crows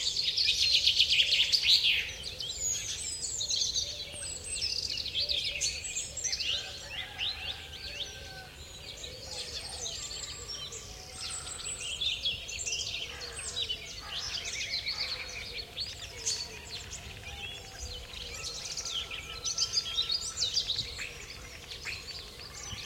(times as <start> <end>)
5.3 12.0, 13.0 22.8